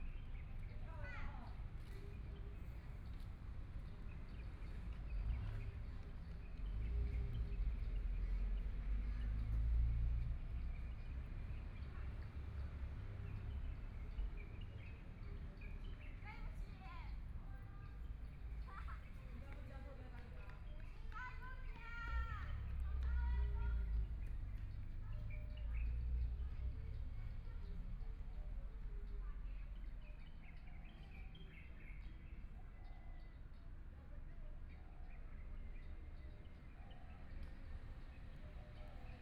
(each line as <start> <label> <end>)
2.4 Traffic Sound 32.7
13.3 Birdsong 39.2